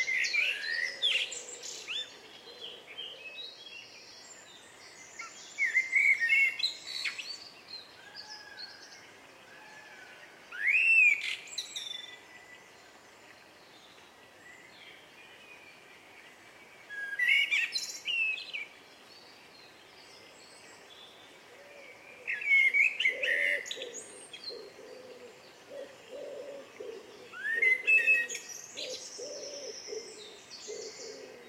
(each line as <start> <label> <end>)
0.0 blackbird 8.8
21.5 pheasant 31.4
21.5 blackbird 31.4